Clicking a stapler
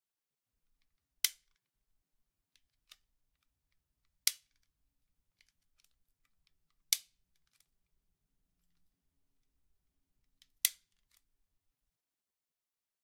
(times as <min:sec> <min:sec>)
0:01.2 0:01.6, 0:04.3 0:04.7